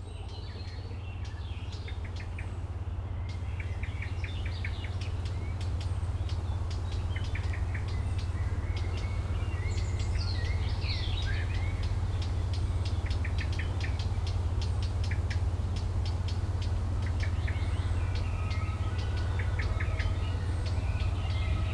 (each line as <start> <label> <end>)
0.0 birds 21.7
0.0 mild windy 21.7